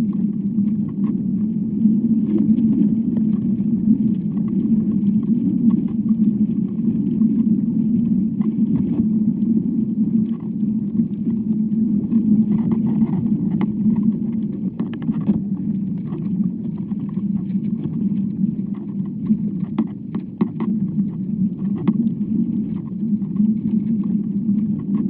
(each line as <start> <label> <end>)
0.0 noises from the wind on the mic 25.0
0.0 sounds from the inside of the tree 25.0